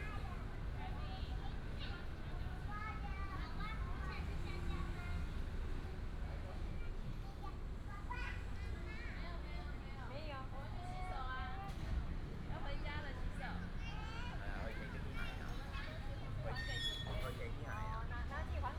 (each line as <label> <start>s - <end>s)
Child 7.1s - 9.4s